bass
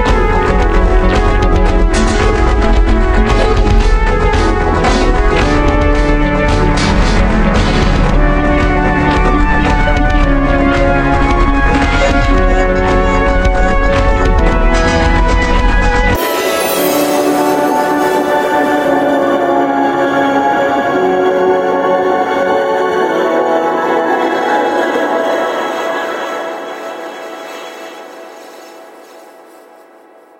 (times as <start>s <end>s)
0.0s 16.2s